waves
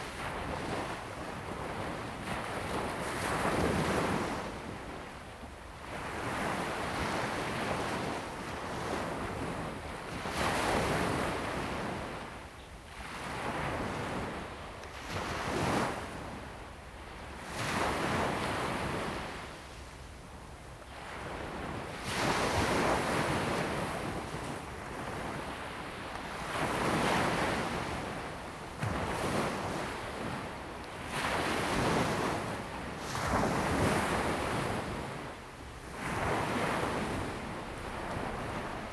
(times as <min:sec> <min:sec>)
0:21.3 0:38.9